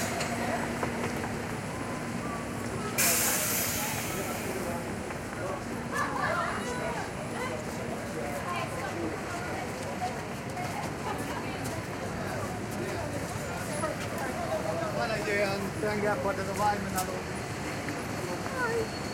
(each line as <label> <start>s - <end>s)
people walking about 0.0s - 19.1s
traffic 0.0s - 19.1s